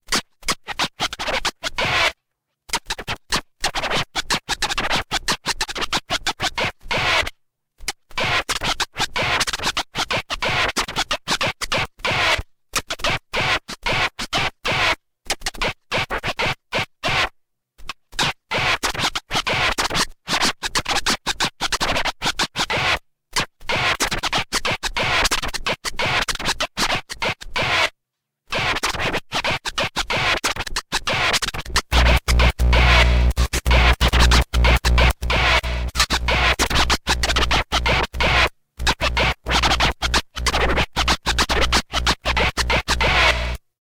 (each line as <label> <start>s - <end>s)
scratching 31.1s - 43.6s